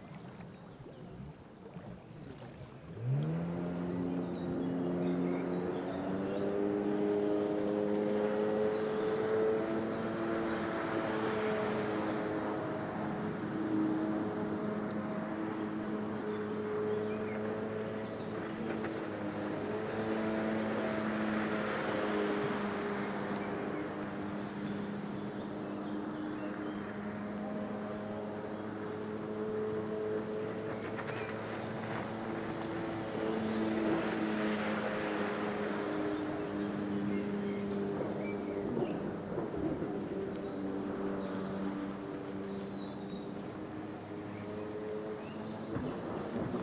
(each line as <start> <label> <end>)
0.0 water scooter 46.6